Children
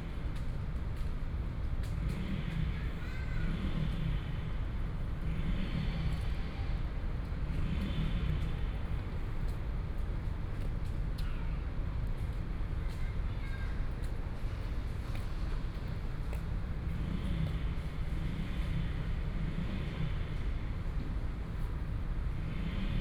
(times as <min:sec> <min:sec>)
0:03.0 0:03.6, 0:12.8 0:14.1